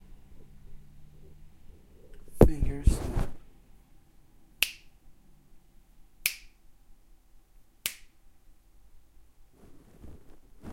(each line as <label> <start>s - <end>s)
Snapping fingers 4.6s - 4.9s
Snapping fingers 6.2s - 6.6s
Snapping fingers 7.8s - 8.2s